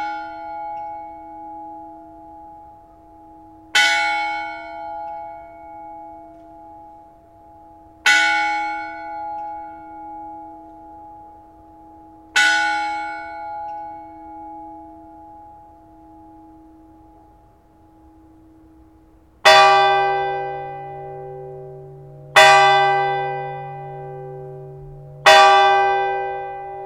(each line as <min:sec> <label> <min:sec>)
0:00.0 church bells 0:26.8